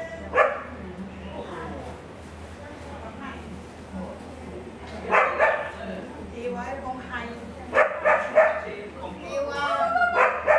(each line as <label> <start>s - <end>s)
Dogs barking 0.4s - 0.7s
Dogs barking 5.1s - 5.8s
Dogs barking 7.8s - 8.7s
Dogs barking 10.1s - 10.5s